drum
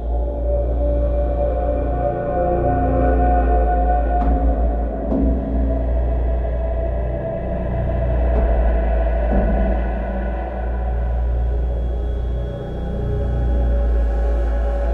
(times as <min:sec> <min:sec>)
0:04.2 0:06.0, 0:08.2 0:11.4